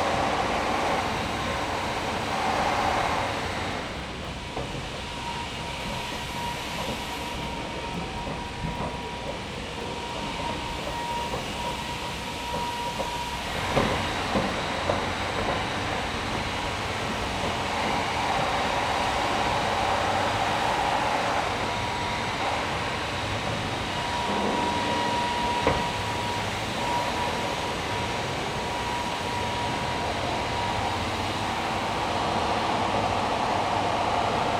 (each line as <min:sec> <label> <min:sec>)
0:00.0 whining machines 0:34.5
0:00.0 constant pneumatic drills 0:34.5
0:03.1 passing footsteps resonating in the metal 0:19.0